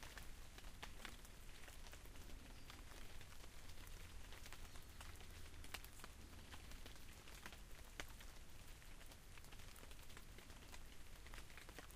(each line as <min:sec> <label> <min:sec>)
0:00.0 rain falling across the field 0:11.9
0:00.0 rain hits the leaves of a big sycamore tree 0:11.9
0:01.2 Birds sing in the distance 0:07.4